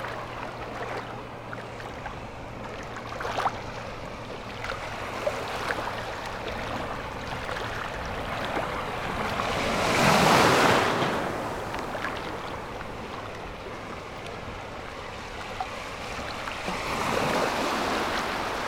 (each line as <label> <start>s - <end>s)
The sea 0.0s - 18.6s